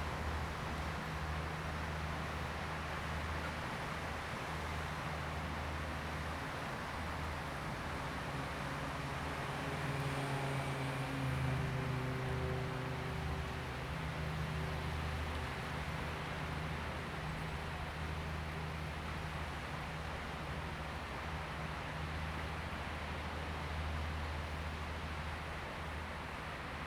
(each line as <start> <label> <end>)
0.0 boat on the sea 26.8
0.0 waves 26.8